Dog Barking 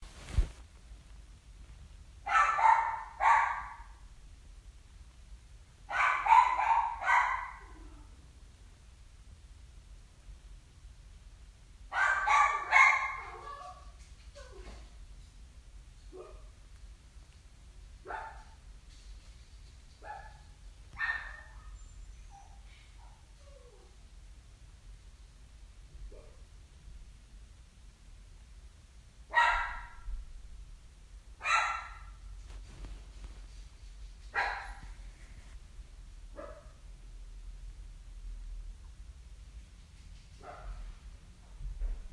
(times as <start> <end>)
2.3 4.0, 5.9 8.0, 11.9 13.9, 18.0 18.6, 20.0 21.8, 29.3 30.1, 31.4 32.2, 34.3 34.8, 36.4 36.8